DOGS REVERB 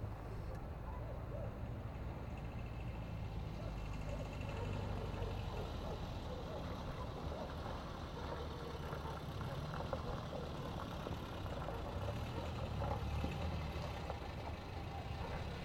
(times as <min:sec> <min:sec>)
0:03.2 0:15.6